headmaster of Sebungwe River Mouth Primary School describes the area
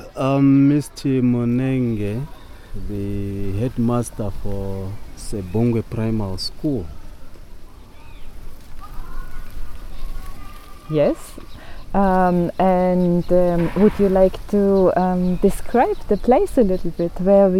0.0s 7.0s

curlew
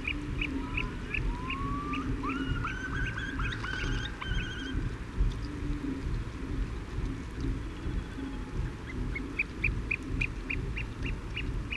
0.0s 4.9s

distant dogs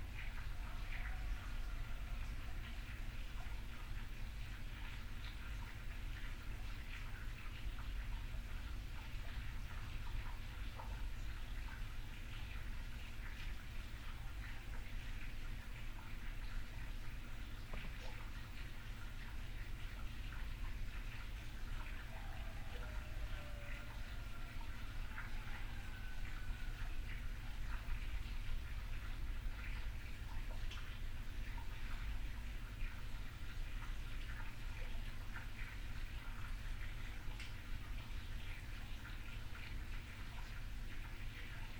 21.9s 27.0s

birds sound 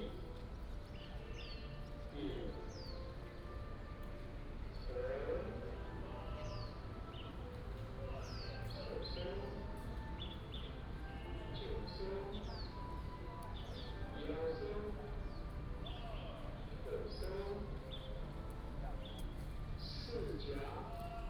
11.6s 18.3s, 19.0s 20.8s

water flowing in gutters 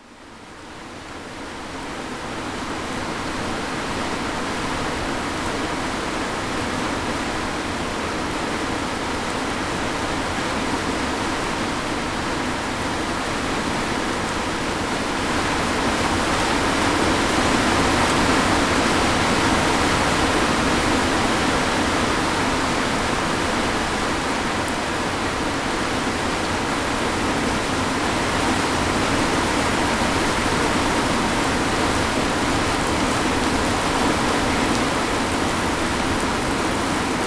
13.0s 37.2s

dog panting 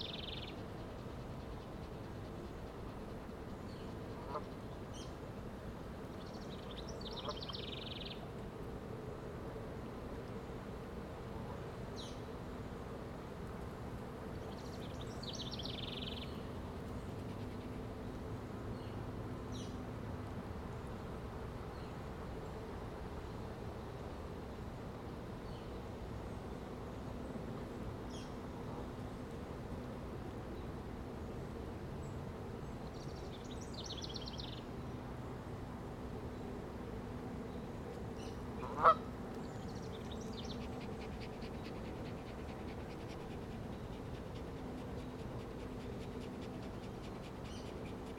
40.6s 48.1s

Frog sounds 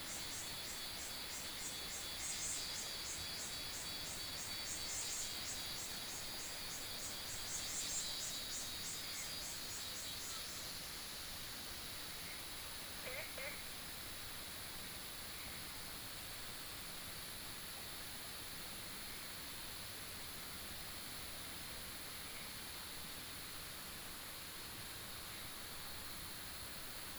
13.0s 13.8s

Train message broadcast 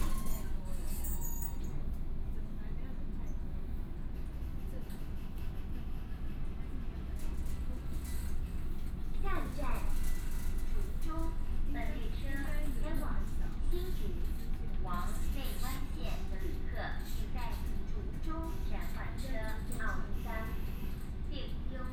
9.1s 21.9s

